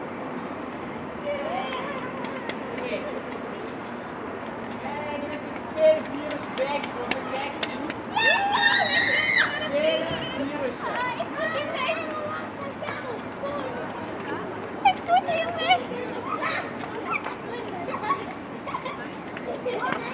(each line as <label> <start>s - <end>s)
traffic noise 0.0s - 20.1s
Children playing 1.1s - 4.4s
Children playing 8.1s - 20.1s